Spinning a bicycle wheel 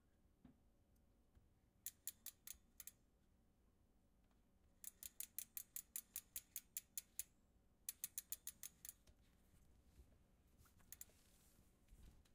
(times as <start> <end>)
7.9 9.0, 10.8 11.2